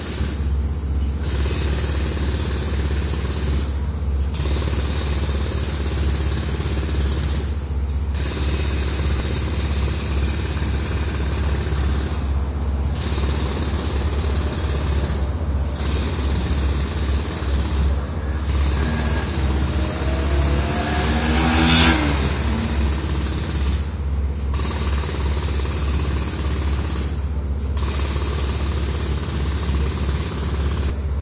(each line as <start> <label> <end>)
0.0 Jackhammer 0.5
1.2 Jackhammer 12.4
13.0 Jackhammer 31.0